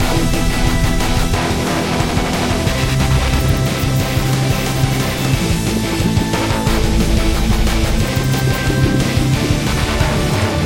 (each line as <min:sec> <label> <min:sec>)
0:00.0 Speedstep 0:10.6